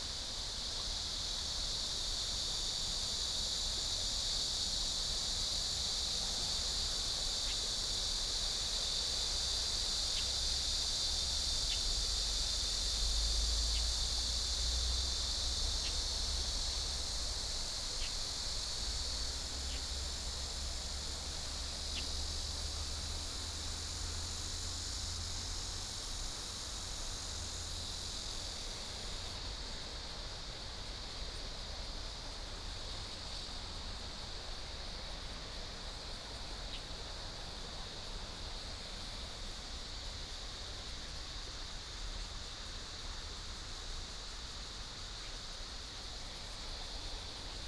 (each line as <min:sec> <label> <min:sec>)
0:00.0 Cicada cry 0:47.6